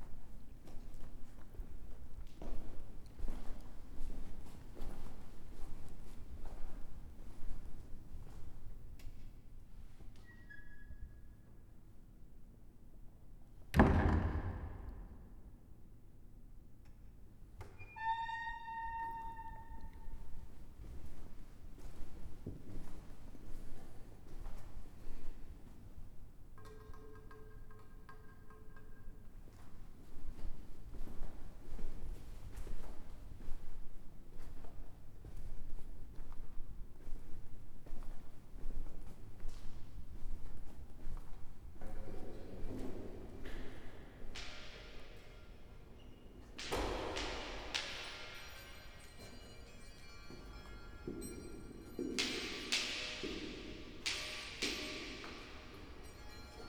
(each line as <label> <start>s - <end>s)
walking in the cloister 0.0s - 11.5s
walking in the cloister 29.3s - 56.6s